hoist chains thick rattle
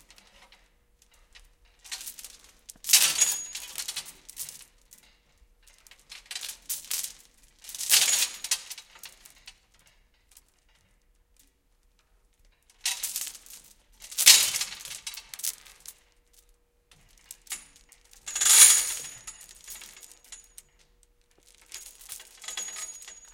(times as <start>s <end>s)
3.0s 4.0s, 18.2s 20.5s, 21.7s 23.3s